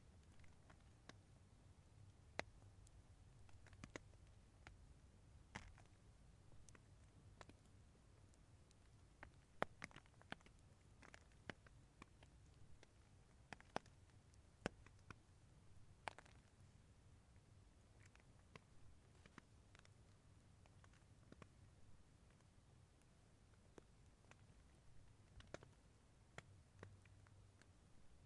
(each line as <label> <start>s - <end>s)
rain on tent 16.0s - 16.5s